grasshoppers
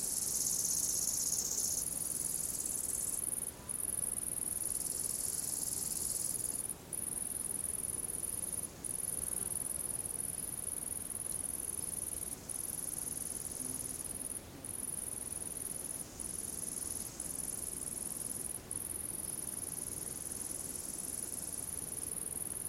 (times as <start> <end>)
0.0 3.4